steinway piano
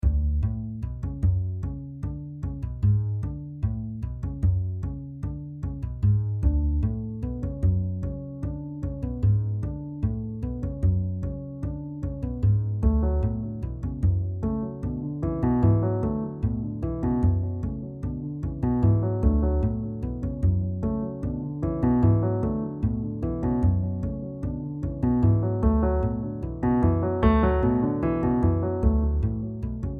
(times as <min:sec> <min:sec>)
0:06.5 0:29.9